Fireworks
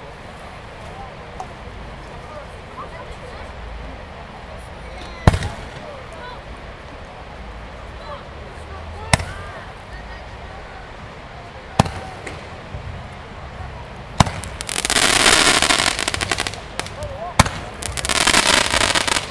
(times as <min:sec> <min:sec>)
0:05.2 0:05.9, 0:11.8 0:12.6, 0:14.2 0:19.3